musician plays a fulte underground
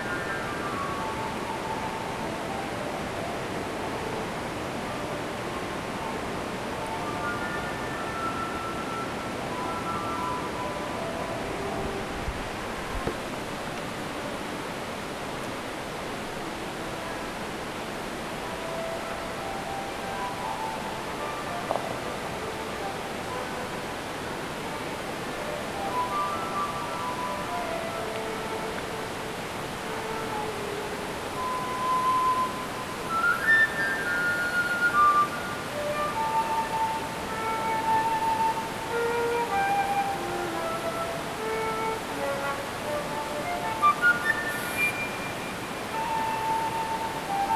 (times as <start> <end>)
24.8 47.5